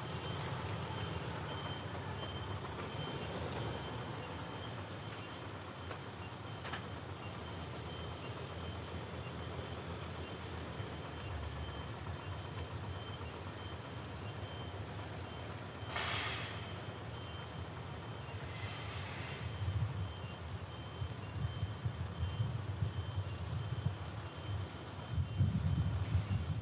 Traffic 0:00.0 - 0:26.6
Wind 0:00.0 - 0:26.6

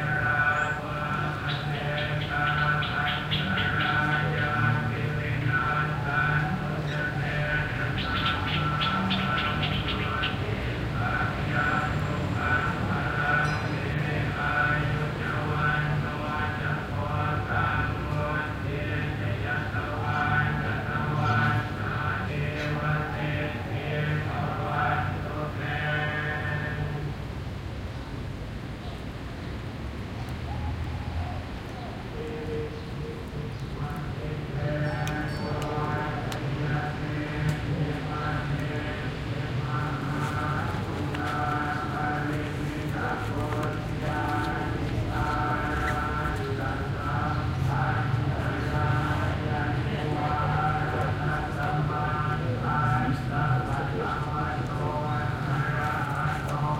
Buddhist chants (from loudspeakers) 0:00.0 - 0:29.3
City ambience 0:00.0 - 0:56.7
Workers passing 0:29.9 - 0:56.7
Buddhist chants (from loudspeakers) 0:30.4 - 0:56.7

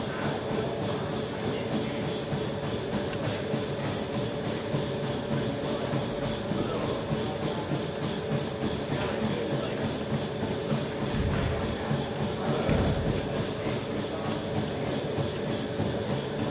Treadmills 0:00.0 - 0:16.5
conversation 0:05.9 - 0:16.1

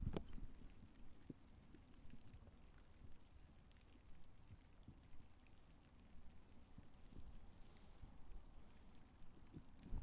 night rain 0:00.0 - 0:10.0

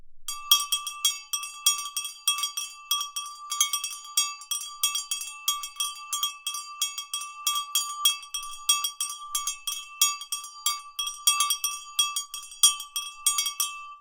small metal cow bell ringing repeatedly 0:00.3 - 0:14.0

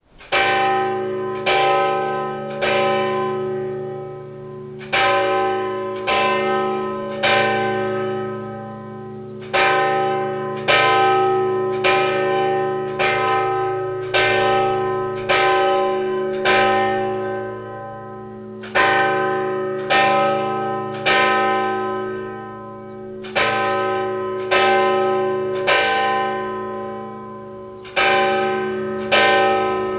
Church bell 0:00.0 - 0:29.9

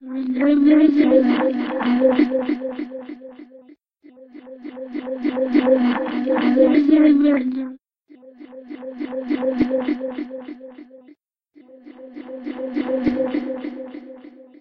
SCI-FI noises 0:00.4 - 0:03.5
SCI-FI noises 0:04.9 - 0:07.4

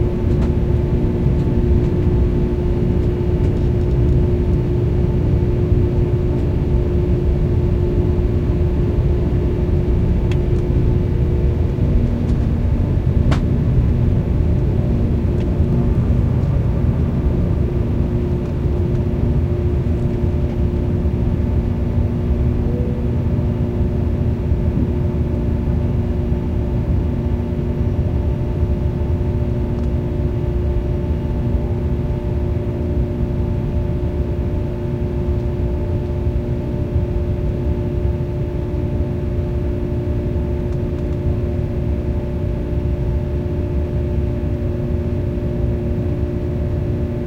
hum of air conditioning and motors 0:00.0 - 0:47.2

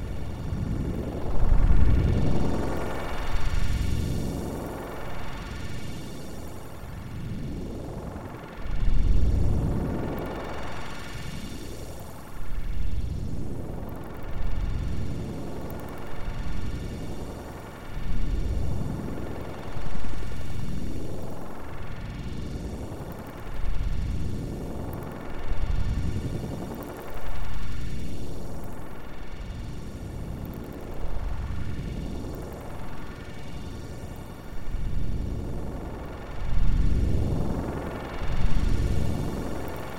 droning noisescape 0:00.0 - 0:39.9

